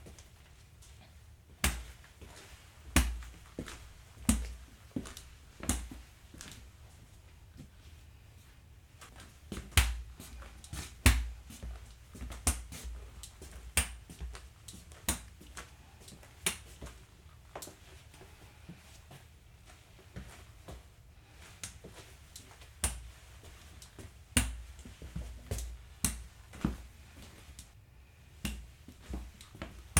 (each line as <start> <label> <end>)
0.0 walking with cane 27.8